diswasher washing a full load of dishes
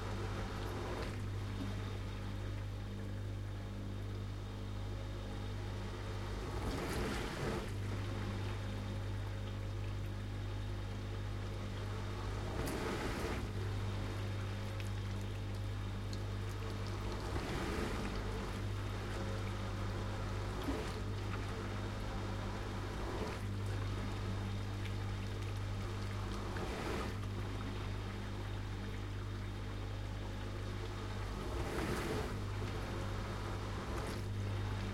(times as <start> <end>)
6.4 8.6, 12.0 14.9, 16.5 28.7, 31.0 34.9